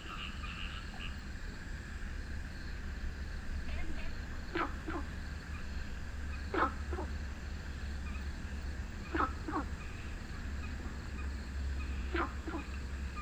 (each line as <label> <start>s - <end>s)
Frogs chirping 0.0s - 13.2s
Traffic Sound 0.0s - 13.2s